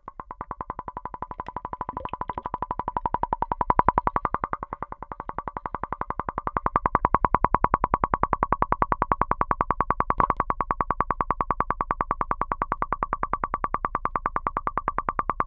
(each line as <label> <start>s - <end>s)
toy bubbling underwater 0.0s - 6.9s